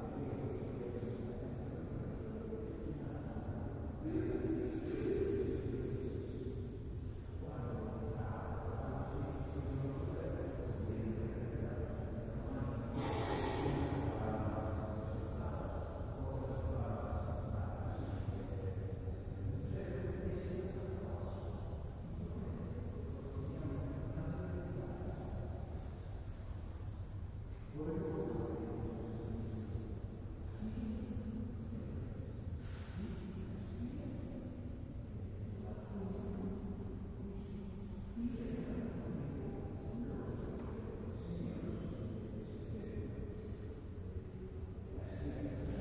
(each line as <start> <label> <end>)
0.0 distant voices talking 45.8